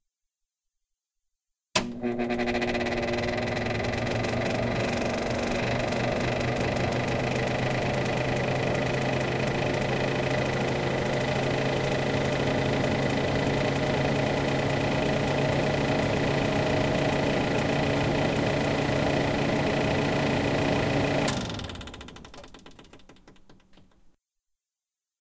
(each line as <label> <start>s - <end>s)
kitchen stove overhead fan on Low 1.8s - 21.8s